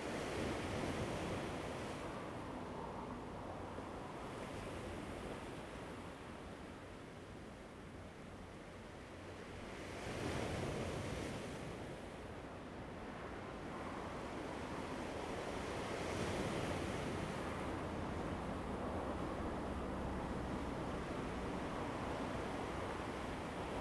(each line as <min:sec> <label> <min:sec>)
0:08.1 Waves 0:23.8